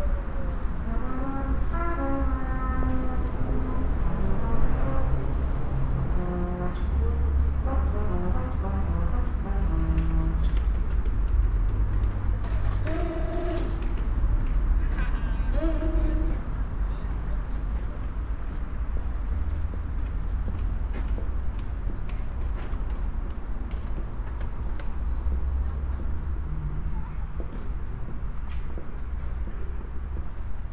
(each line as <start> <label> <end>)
0.8 trumpeter plays his music 5.2
6.0 trumpeter plays his music 10.7